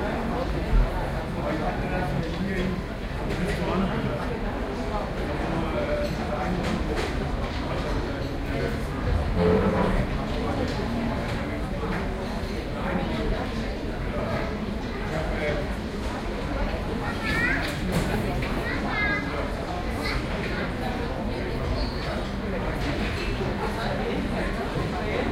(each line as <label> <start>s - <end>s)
crowd 0.0s - 25.3s